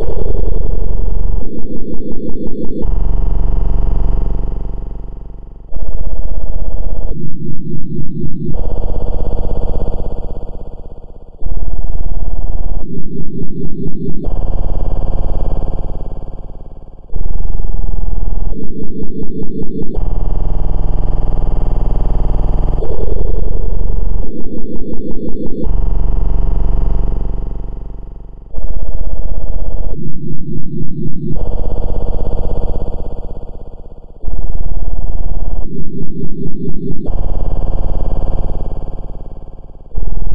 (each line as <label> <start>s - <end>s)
Fx Glitch 5 0.0s - 2.8s
Fx Glitch 5 5.7s - 9.3s
Fx Glitch 5 22.8s - 25.7s
Fx Glitch 5 28.6s - 33.0s
Fx Glitch 5 34.2s - 37.3s